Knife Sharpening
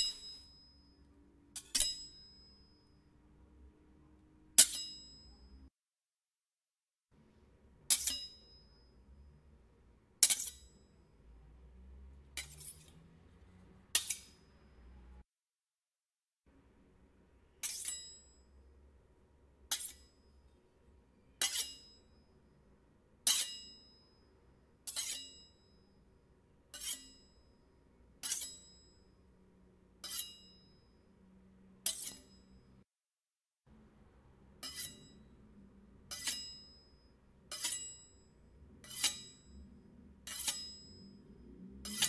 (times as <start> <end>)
4.6 5.0, 7.9 8.6, 10.2 10.8, 12.4 13.0, 13.9 14.6, 17.6 18.2, 19.7 20.2, 21.2 22.0, 23.2 23.8, 24.8 25.5, 26.7 27.3, 28.2 28.8, 30.0 30.6, 31.8 32.6, 34.6 35.2, 36.1 36.8, 37.5 38.0, 38.8 39.5, 40.2 41.1, 41.8 42.0